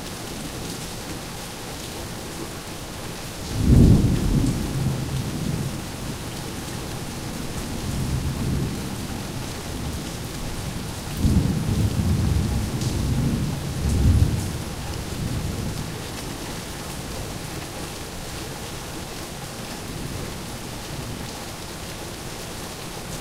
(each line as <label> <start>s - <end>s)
Rain 0.0s - 23.2s
thunder 3.5s - 5.9s
thunder 11.2s - 15.8s